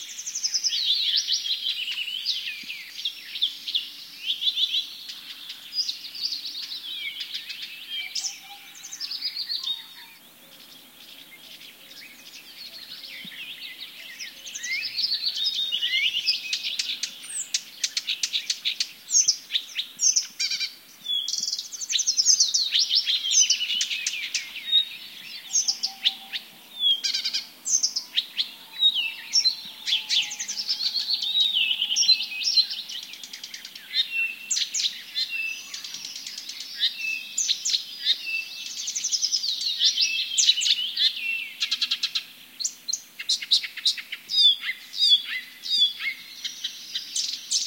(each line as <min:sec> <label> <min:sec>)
0:00.0 birds singing 0:47.6
0:25.4 distant owl 0:33.7